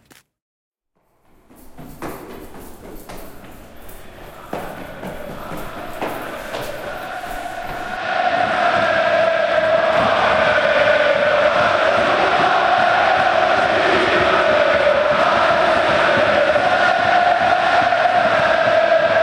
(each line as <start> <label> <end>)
1.2 Soccer Fans 19.2